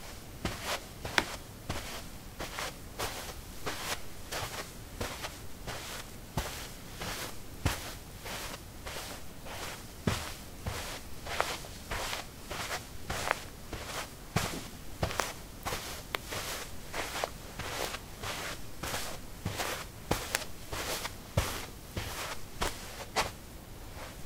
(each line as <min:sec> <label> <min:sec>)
0:00.0 carpet 16a trekkingshoes walk 0:23.4